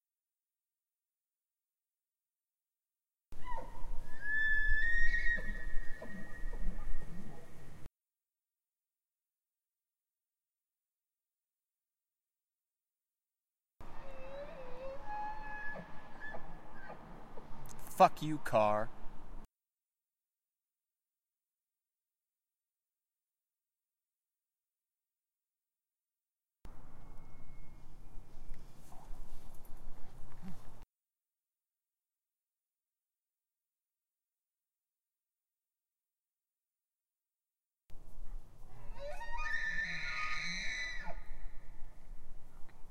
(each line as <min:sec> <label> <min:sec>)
0:14.0 bull elk bugling 0:17.0